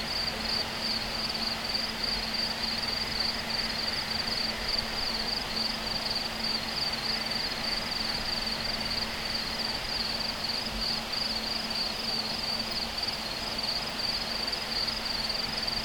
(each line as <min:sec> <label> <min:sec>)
0:00.0 Crickets 0:15.8